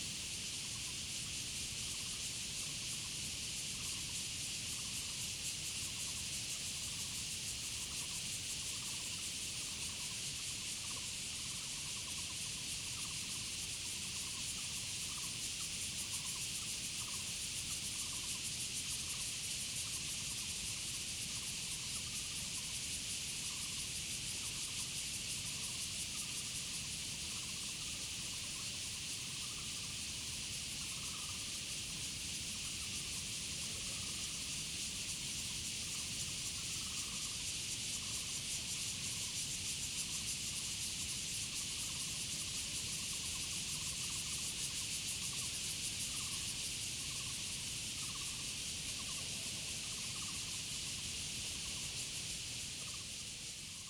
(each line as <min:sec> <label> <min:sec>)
0:00.0 Cicadas sound 0:53.8
0:04.8 Frogs sound 0:20.3
0:21.2 Frogs sound 0:53.8